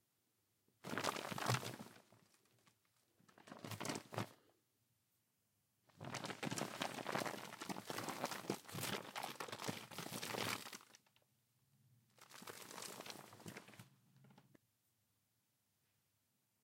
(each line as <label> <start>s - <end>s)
extended crumpling 6.0s - 11.1s
heavy, thick plastic bag 6.0s - 11.0s
extended crumpling 12.2s - 14.4s
heavy, thick plastic bag 12.2s - 13.8s